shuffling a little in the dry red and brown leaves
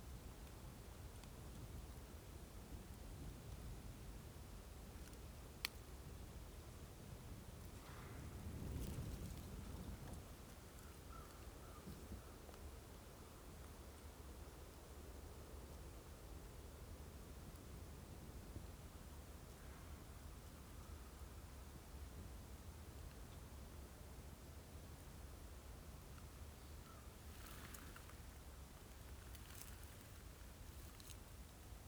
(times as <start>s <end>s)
27.1s 31.8s